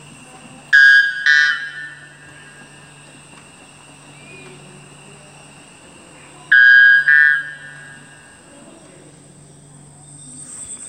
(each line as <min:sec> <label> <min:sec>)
0:04.0 Tropical Bird Sounds 0:05.1